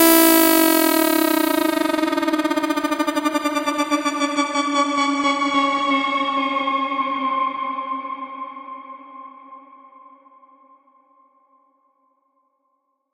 0.0s riser 4.4s

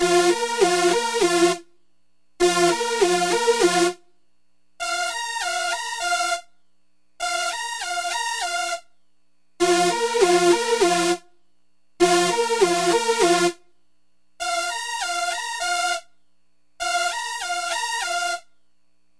0.0s Alternating octave stabs on old school synth 1.6s
2.4s Alternating octave stabs on old school synth 4.0s
9.6s Alternating octave stabs on old school synth 11.2s
12.0s Alternating octave stabs on old school synth 13.6s
14.4s Alternating octave stabs on old school synth 16.0s

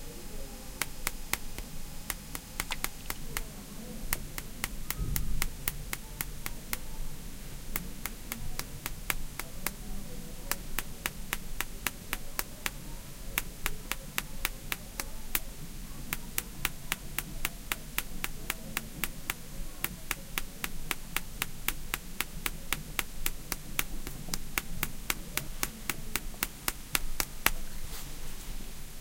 0.8s lots of hiss 29.0s
0.8s tapping of fingernails 7.0s
7.7s tapping of fingernails 27.7s

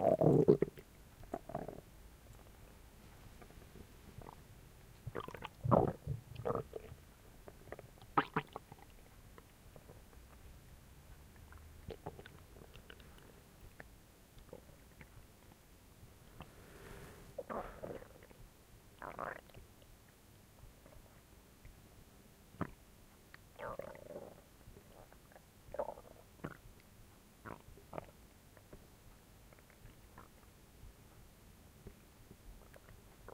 0.0s Stomach gurgling 2.5s
3.4s Stomach gurgling 10.3s
11.4s Stomach gurgling 15.2s
17.4s Stomach gurgling 18.4s
19.0s Stomach gurgling 19.9s
23.5s Stomach gurgling 26.8s
27.4s Stomach gurgling 28.8s
29.5s Stomach gurgling 30.5s
32.6s Stomach gurgling 33.3s

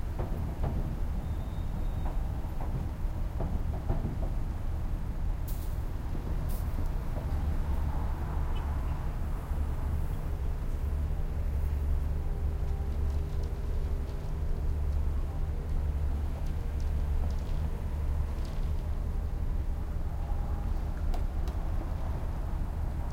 0.0s Traffic 23.1s
0.0s construction 23.1s

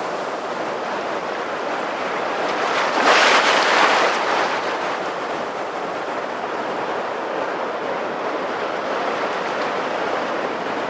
0.0s small waves on a stoney beach 10.8s

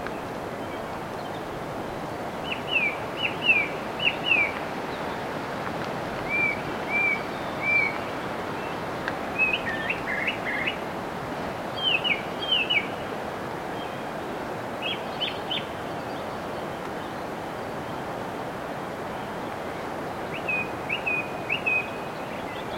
0.0s Song thrush singing 5.4s
6.1s Song thrush singing 11.0s
11.7s Song thrush singing 13.1s
14.8s Song thrush singing 17.3s
20.0s Song thrush singing 22.7s

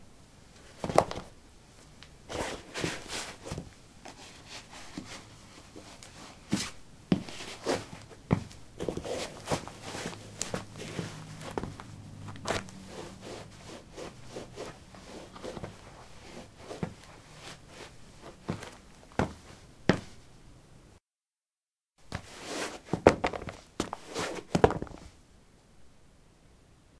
0.8s Putting sport shoes on/off on concrete 1.3s
6.5s Putting sport shoes on/off on concrete 12.8s
13.4s Putting sport shoes on/off on concrete 17.6s
18.2s Putting sport shoes on/off on concrete 20.2s
22.1s Putting sport shoes on/off on concrete 25.2s

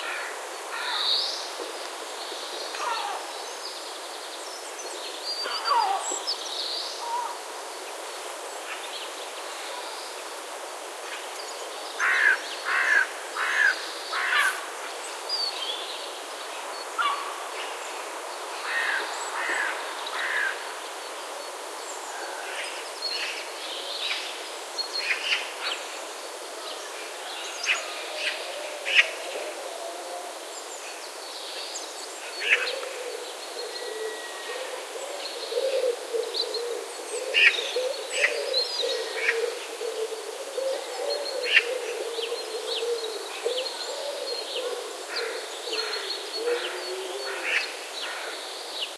0.0s wind 48.9s
11.0s birds 48.9s

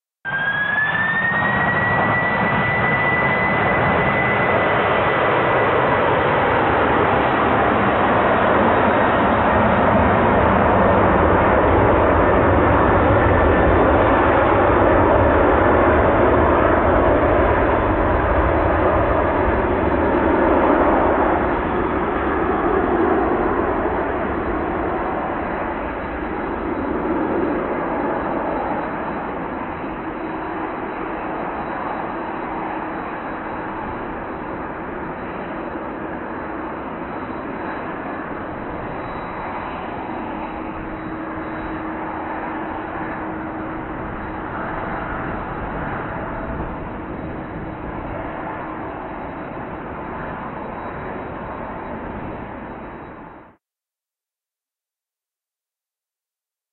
0.3s Passenger aircraft engine take off 53.6s

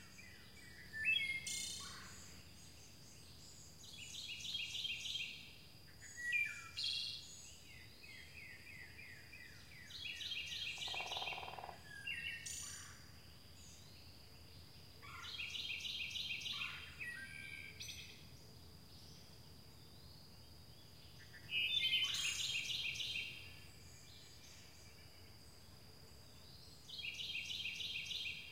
9.4s call of the huge Pileated Woodpecker 13.0s
9.9s wood thrush singing 12.2s
10.8s drumming of a woodpecker 11.8s

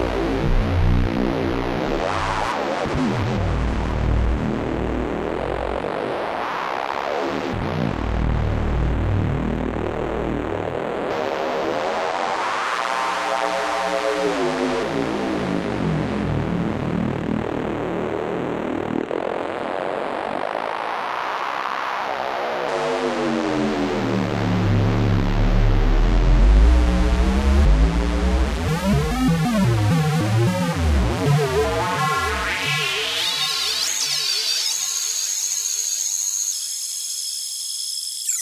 36.0s bleeps 38.4s

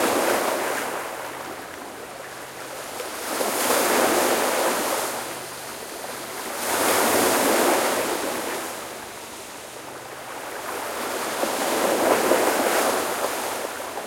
0.0s waves breaking 14.0s

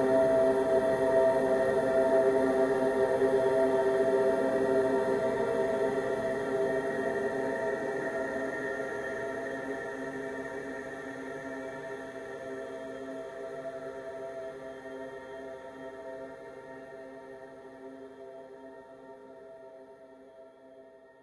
0.0s slowly evolving dreamy ambient drone pad 21.1s

